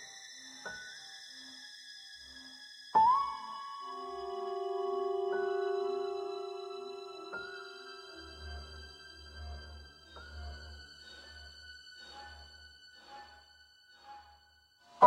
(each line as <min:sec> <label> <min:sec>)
0:02.9 Piano 0:11.5